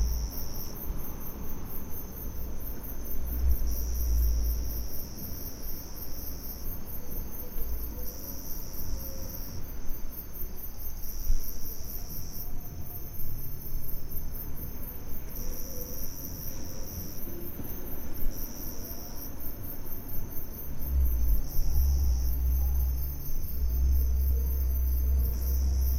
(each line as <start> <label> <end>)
0.0 insects 25.9